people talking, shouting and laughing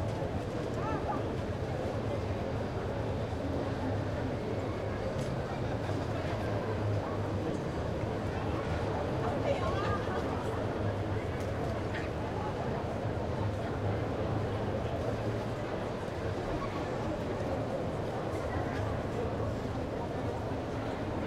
0:08.1 0:13.0

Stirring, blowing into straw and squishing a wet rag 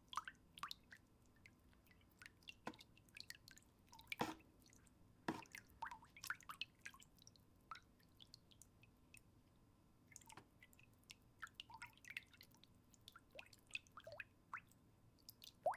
0:04.0 0:04.5

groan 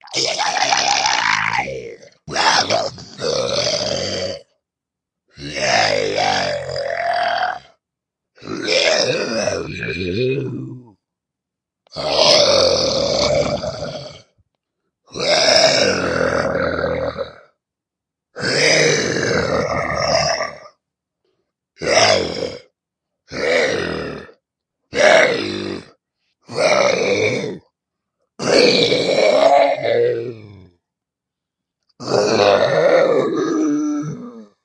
0:00.0 0:04.6, 0:05.3 0:07.8, 0:08.4 0:11.0, 0:11.9 0:14.4, 0:15.1 0:17.6, 0:18.4 0:20.8, 0:21.8 0:22.7, 0:23.3 0:25.9, 0:26.5 0:27.6, 0:28.4 0:30.8, 0:32.0 0:34.6

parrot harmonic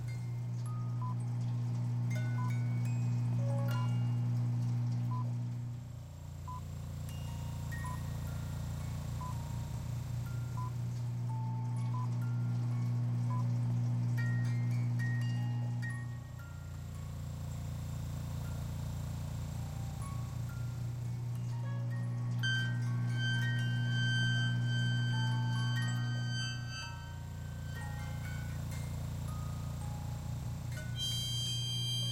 0:02.1 0:04.8, 0:19.5 0:32.1

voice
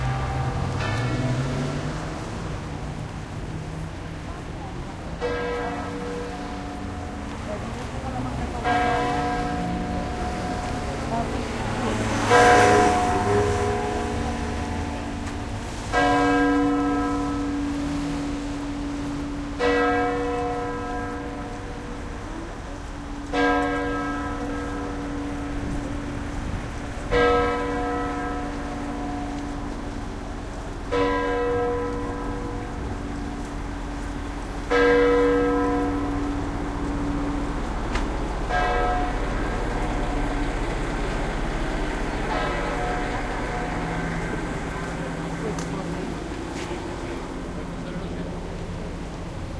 0:04.0 0:06.5, 0:07.3 0:13.6, 0:42.5 0:49.0

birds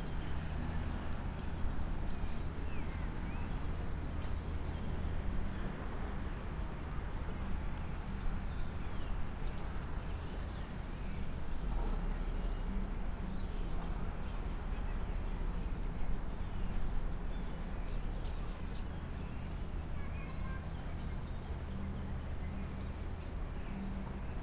0:07.8 0:24.4

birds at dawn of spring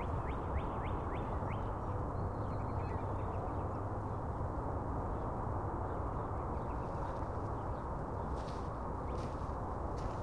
0:05.9 0:10.2

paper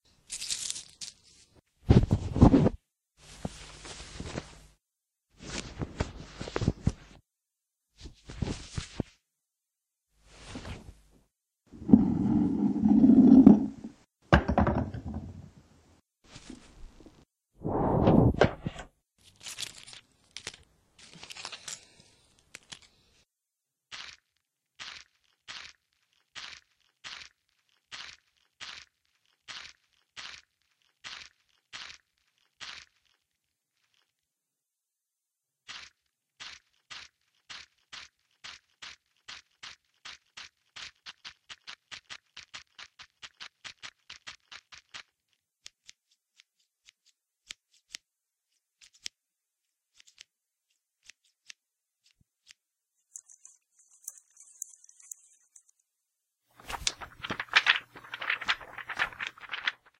0:18.1 0:23.0, 0:23.9 0:34.2, 0:35.7 0:55.7, 0:56.5 0:59.9

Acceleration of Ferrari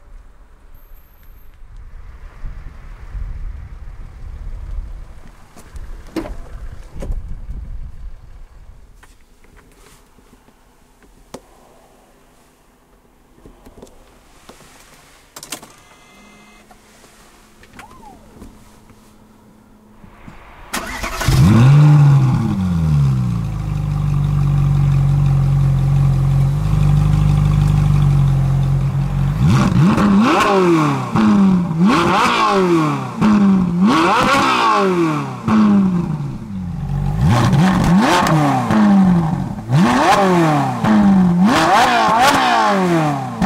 0:16.0 0:43.4

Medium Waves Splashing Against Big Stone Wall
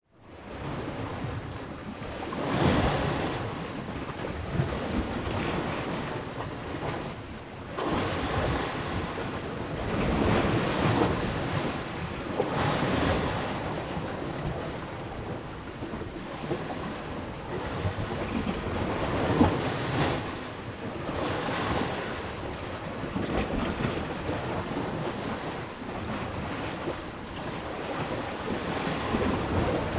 0:07.8 0:29.9

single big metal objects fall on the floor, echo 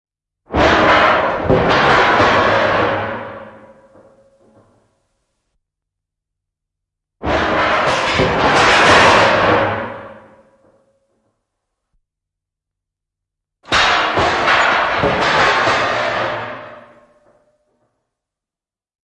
0:00.5 0:05.1, 0:07.2 0:11.5, 0:13.7 0:18.1

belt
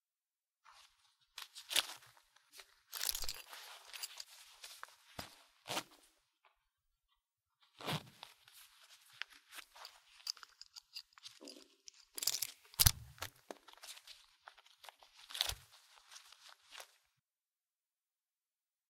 0:02.6 0:05.0, 0:09.0 0:14.7

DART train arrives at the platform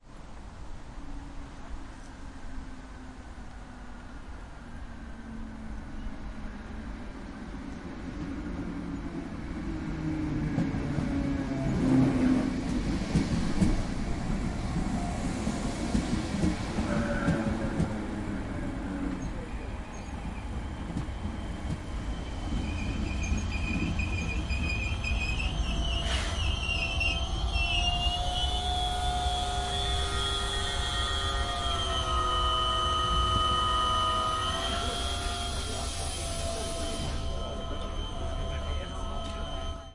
0:08.1 0:39.9

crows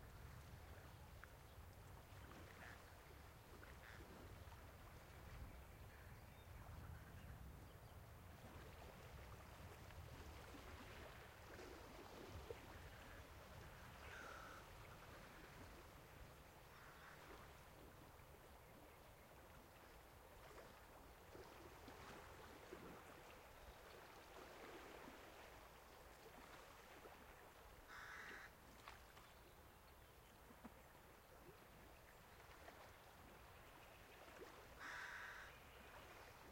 0:14.0 0:14.7, 0:16.7 0:17.5, 0:27.9 0:28.5, 0:34.8 0:35.6

